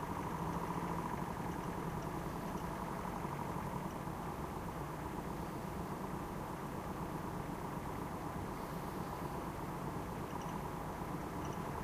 0.0s usual urban noise at night 11.8s

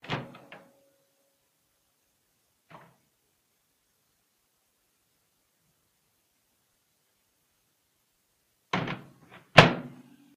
0.0s Microwave oveN door opened and closed 0.7s

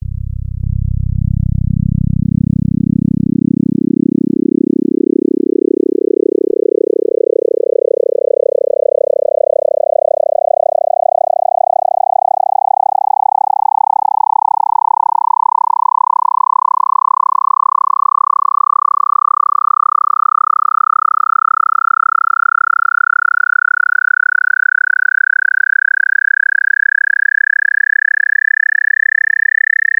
0.0s FM-X engine waveform 5.8s

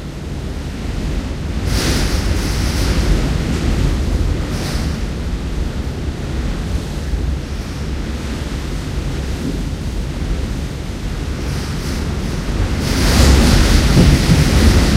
0.0s Heavy Wind 14.9s

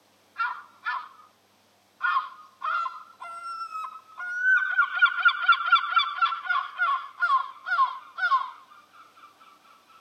2.0s birdsong 10.0s

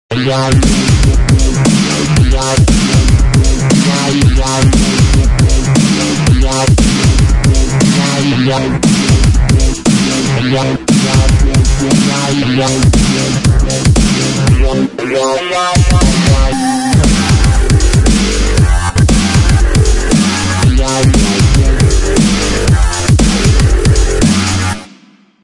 0.0s bass 25.0s
0.1s synth 24.8s
0.2s hat 25.1s
3.7s snare 5.1s
20.1s snare 21.5s
24.2s snare 25.0s

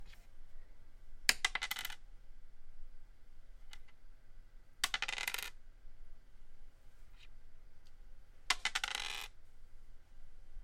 1.3s plastic 4-sided die rolled on a wooden table 2.0s
3.6s plastic 4-sided die rolled on a wooden table 4.0s
4.8s plastic 4-sided die rolled on a wooden table 5.6s
8.4s plastic 4-sided die rolled on a wooden table 9.4s

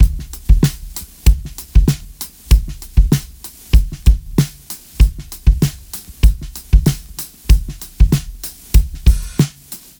0.0s drum break 9.9s

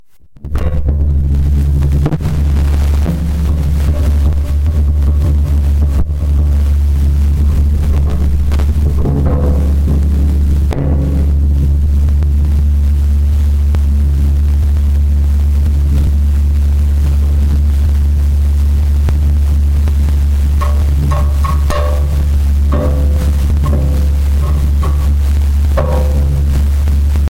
0.4s Extreme Vibrations 27.3s
20.6s scraping 27.0s

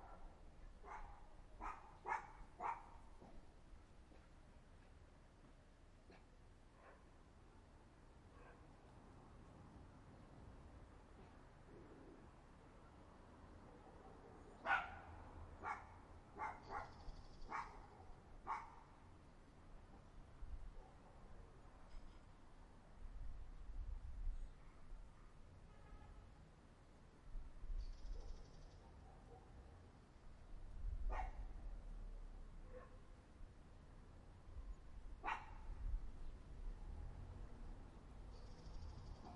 0.0s dogs 3.4s
6.1s dogs 7.1s
13.7s dogs 18.8s
16.4s birds 18.7s
28.2s dogs 29.6s
34.6s distant cars 39.3s
35.2s dogs 35.6s

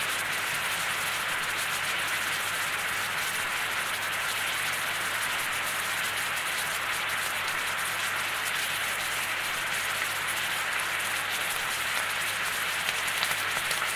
0.0s Saucepan boiling over 13.9s

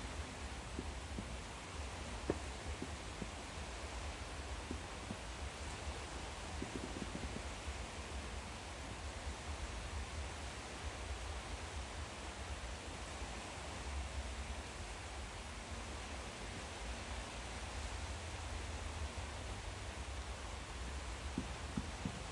0.0s fireworks 8.4s
0.0s sea 22.3s
21.2s fireworks 22.3s

